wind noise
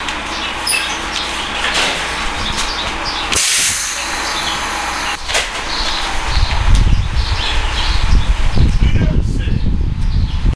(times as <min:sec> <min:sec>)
0:05.2 0:10.5